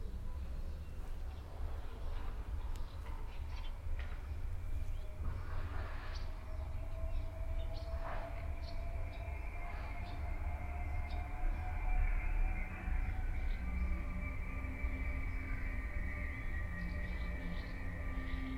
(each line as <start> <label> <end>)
0.0 approaching train 18.5
4.6 distant signal horn of the train 18.5
5.2 salarm signal of the closing train way gate 18.5